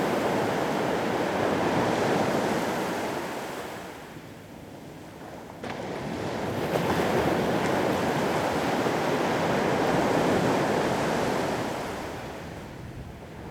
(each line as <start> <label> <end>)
0.0 sea 13.5